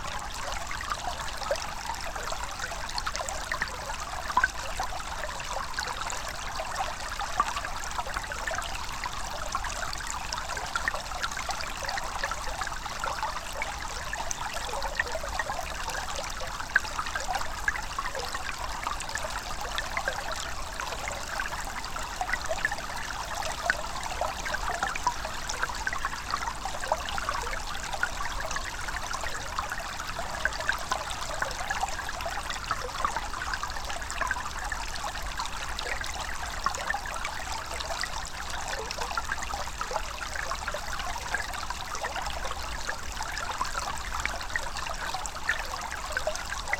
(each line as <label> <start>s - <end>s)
small streamlet 0.0s - 46.7s